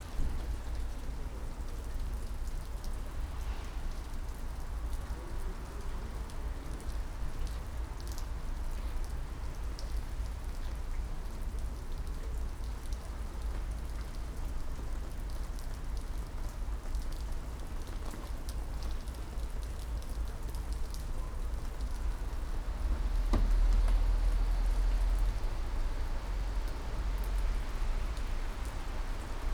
light rain 0.0 - 29.5
wind 0.0 - 29.5
cars can be heard in the distance 21.0 - 29.5

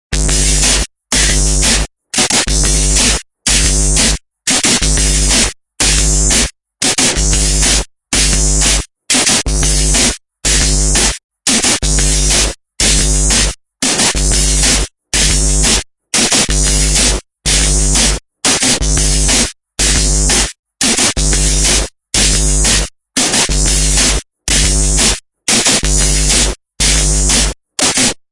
bassdrumsound 0.1 - 4.1
distortion 0.1 - 28.2
bassdrumsound 16.5 - 18.2
bassdrumsound 21.2 - 22.8
bassdrumsound 23.5 - 25.2
bassdrumsound 25.8 - 27.6

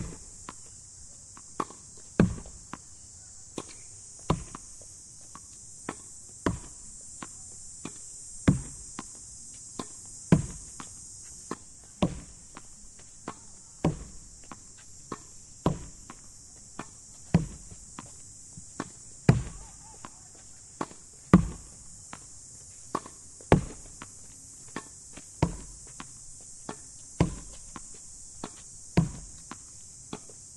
cicadas 0.0 - 30.5
playing tennis against the wall 0.0 - 30.5
people playing a match on the next court 9.2 - 25.2

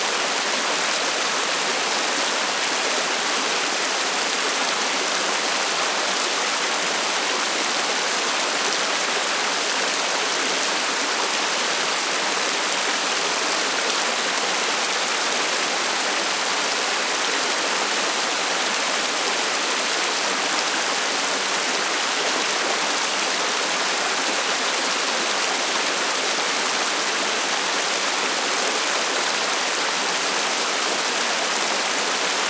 water overflowing an artificial pond 0.0 - 32.4

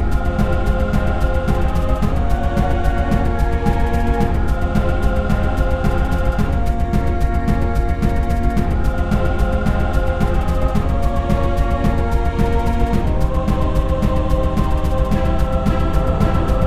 Strings 0.0 - 16.6
brushes 0.0 - 16.6
choir 0.0 - 16.6
drums 0.0 - 16.6

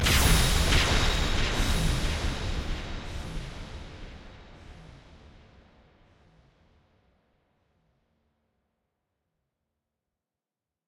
bright explosion with echo 0.0 - 2.6

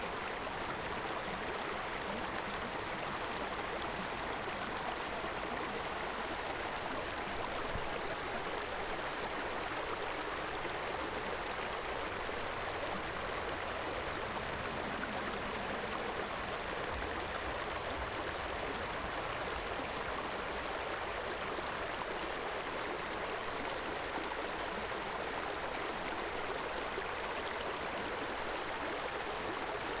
Wide rocky river flowing towards an open lake 0.0 - 30.0

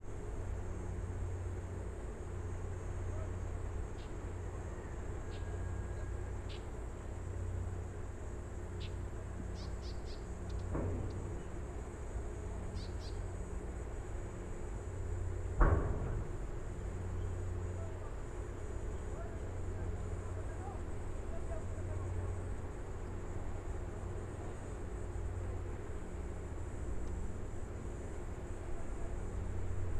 hum of the harbour 0.0 - 29.9
wind 0.0 - 29.9
insects 0.0 - 29.9
cicadas 0.1 - 29.9
distant voices 2.6 - 29.9
birds 3.9 - 7.4
birds 8.7 - 13.5

